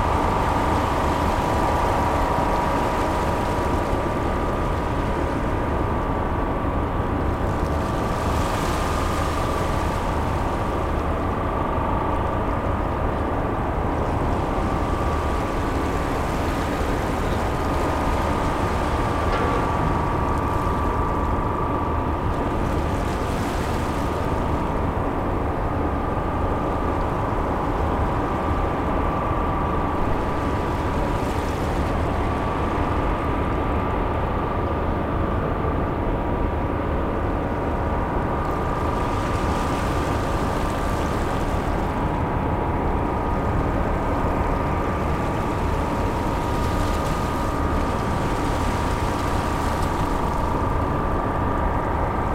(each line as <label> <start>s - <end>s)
Motors from the ferry 0.0s - 52.3s
Machines from the ramp for passengers 17.3s - 22.1s